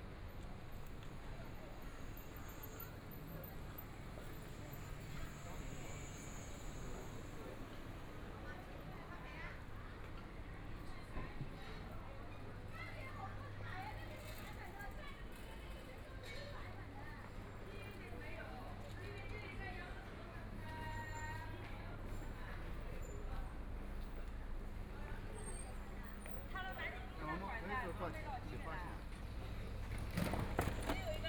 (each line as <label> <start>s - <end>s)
Bicycle Sound 29.0s - 31.2s